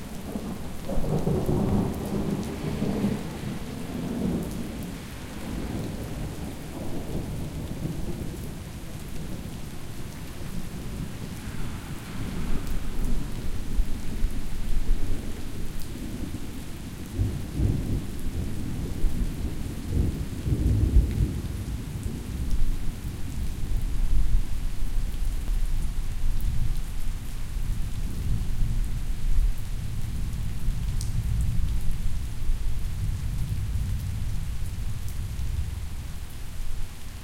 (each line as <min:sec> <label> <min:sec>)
0:00.0 rain 0:37.2